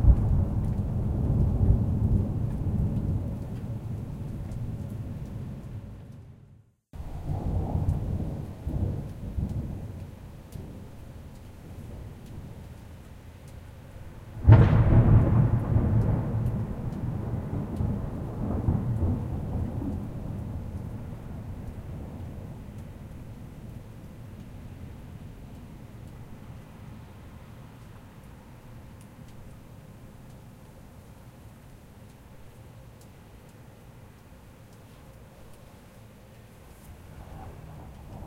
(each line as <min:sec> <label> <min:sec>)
0:00.0 rain 0:38.2
0:07.1 Thunder claps 0:12.7
0:14.3 Thunder claps 0:23.8
0:37.0 Thunder claps 0:38.2